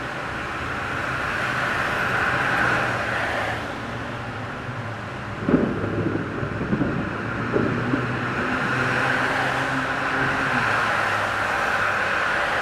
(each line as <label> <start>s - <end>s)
Traffic 0.0s - 12.6s
Thunderstorm 5.1s - 11.3s